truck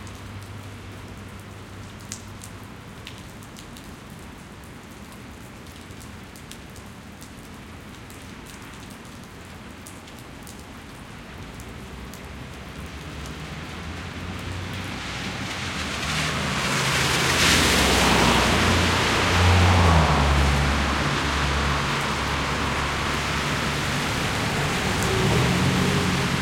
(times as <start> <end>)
13.2 26.4